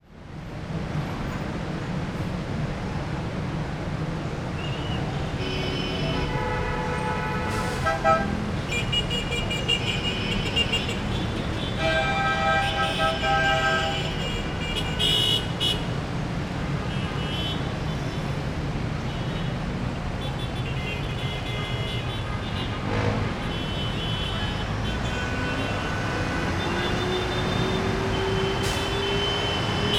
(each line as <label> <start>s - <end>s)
cars 0.0s - 29.9s
trucks 0.0s - 29.9s
horns 20.6s - 29.9s